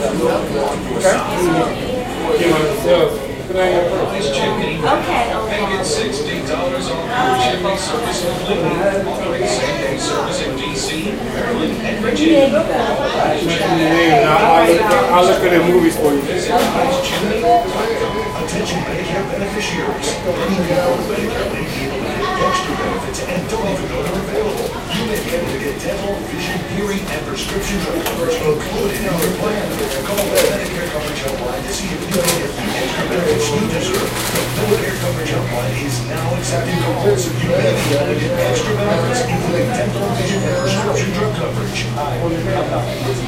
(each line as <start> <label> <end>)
0.0 walla 43.2